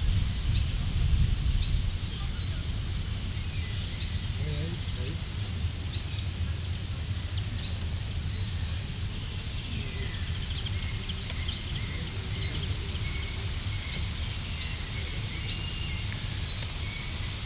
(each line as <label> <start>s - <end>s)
grasshoppers 0.0s - 17.4s
voices of people 2.0s - 3.0s
voices of people 4.3s - 5.4s